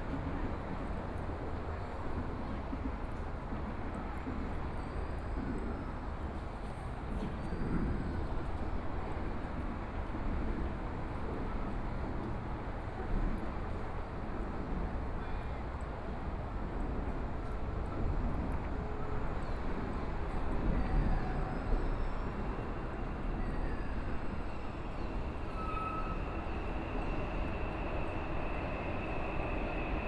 0.0s MRT train sounds 30.0s

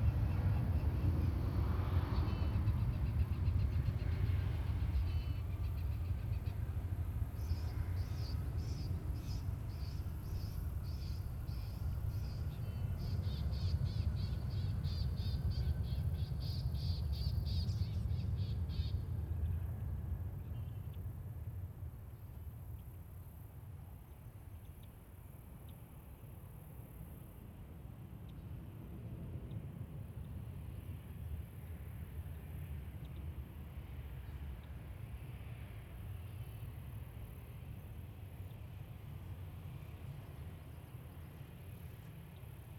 0.0s Aircraft 42.7s
0.0s noisy birds 19.6s

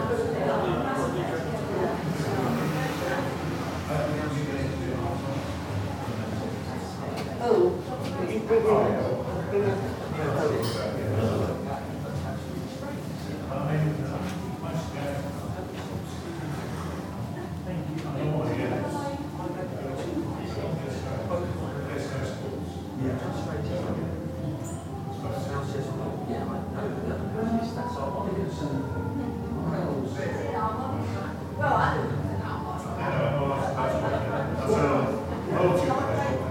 0.0s traffic outside 7.9s

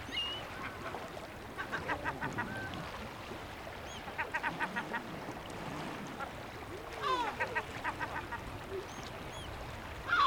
0.0s Seabirds 10.2s
0.0s waves 10.2s

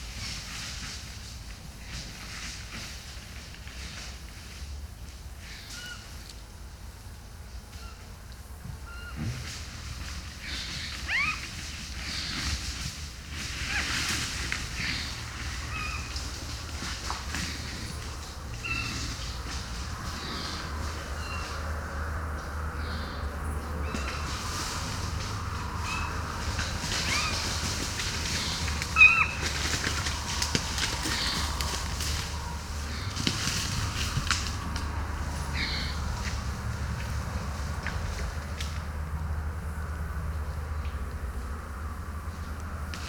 8.9s Encounter with a boar 37.2s

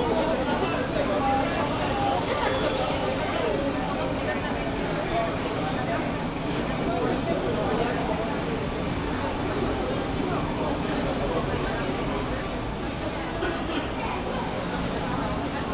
13.8s hiss of the nearby plane 15.7s

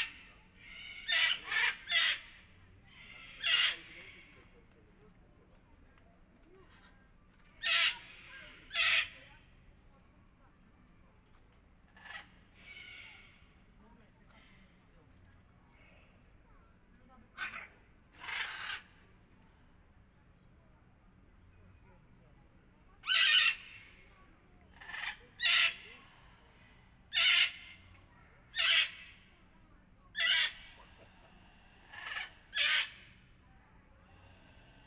0.0s Parrots 5.0s
6.5s Parrots 9.4s
11.8s Parrots 13.6s
17.1s Parrots 19.8s
22.8s Parrots 34.8s

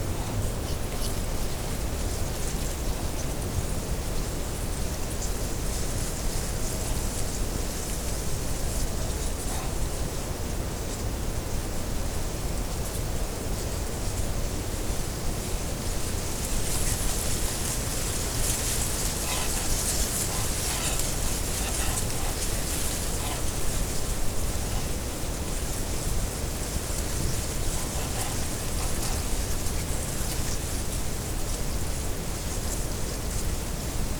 0.0s reed in wind 34.1s

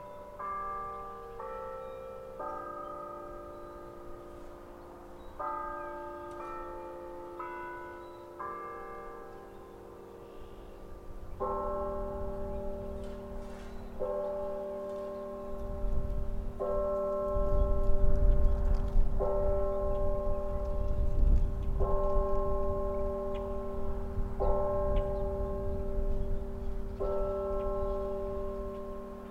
0.0s noon chimes 29.3s
0.0s west wind 29.3s

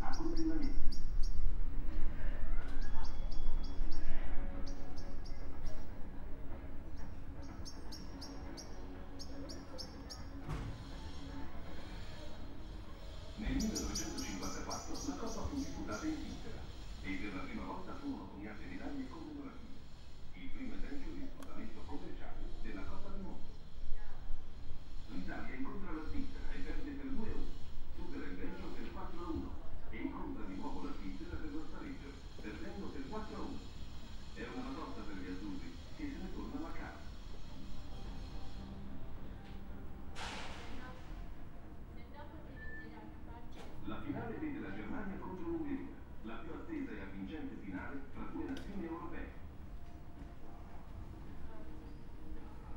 0.0s italian television program about historical soccer 1.8s
0.0s birds 23.7s
3.9s italian television program about historical soccer 23.5s
24.6s italian television program about historical soccer 40.2s

